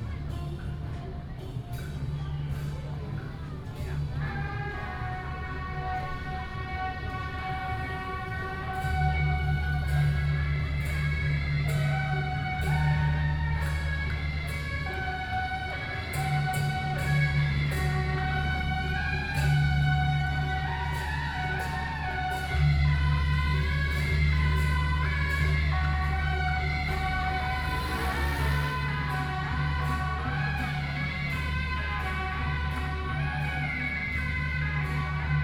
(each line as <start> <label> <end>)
0.0 Traditional temple festivals 35.4